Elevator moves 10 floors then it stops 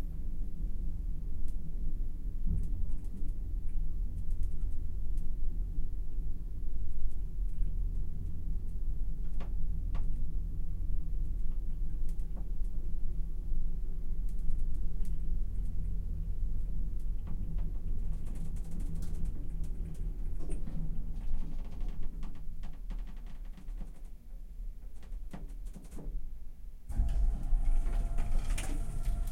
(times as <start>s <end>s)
26.9s 29.3s